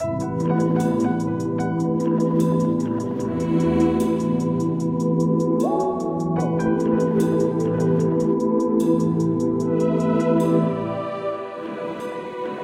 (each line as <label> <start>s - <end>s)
music loop 0.0s - 12.6s